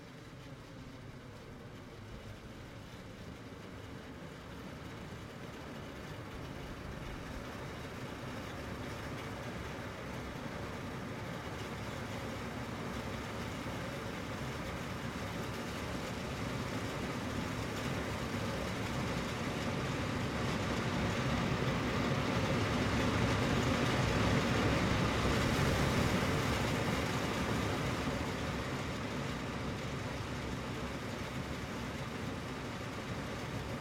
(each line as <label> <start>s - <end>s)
Industrial Heating Vent 9.3s - 33.8s